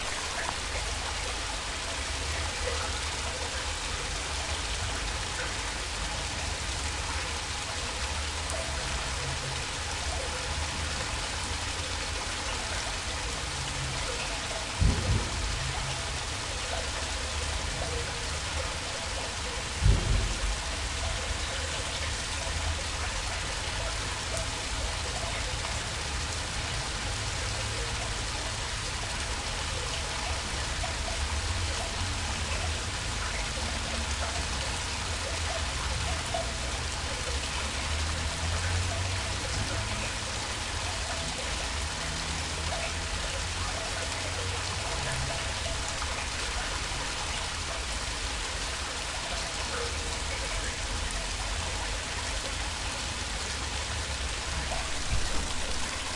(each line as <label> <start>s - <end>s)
Waterfall from wastewater pipe 0.0s - 56.1s